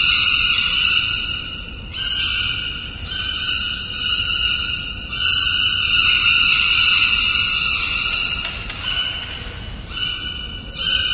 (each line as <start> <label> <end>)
0.0 birds 11.1